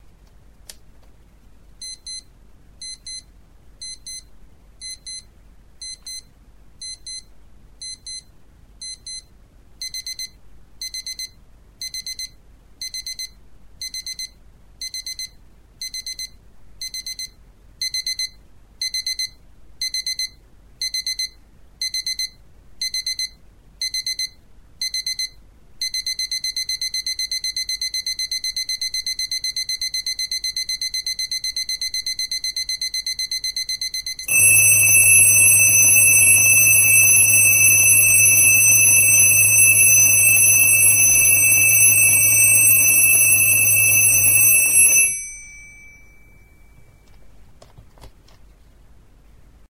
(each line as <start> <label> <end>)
9.8 alarm 47.1